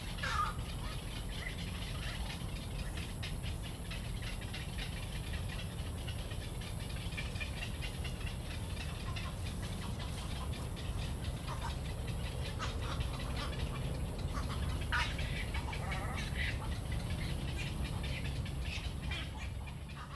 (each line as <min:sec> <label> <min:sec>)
0:00.2 Bird calls 0:20.1
0:04.7 Traffic noise 0:20.1